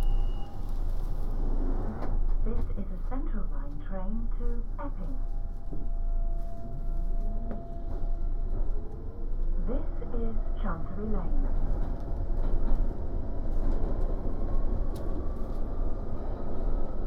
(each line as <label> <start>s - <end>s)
Trains arriving, moving 0.0s - 17.0s
announcement 2.4s - 5.4s
announcement 9.5s - 11.4s